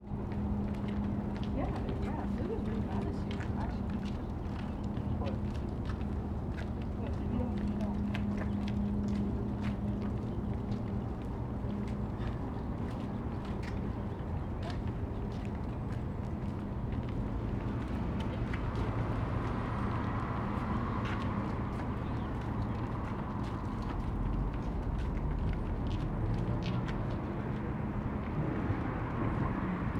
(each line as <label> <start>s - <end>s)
pedestrians below chatting and walking 0.0s - 29.9s
cars driving by 17.5s - 29.9s